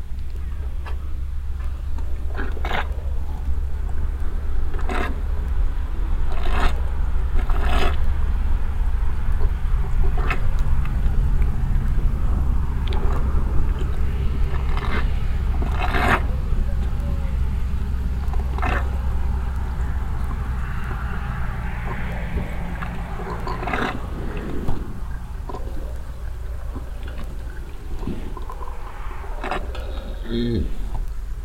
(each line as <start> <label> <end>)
0.0 Cows on an open meadow, drinking from a mobile water supply waggon 31.4
0.0 cars passing by 31.4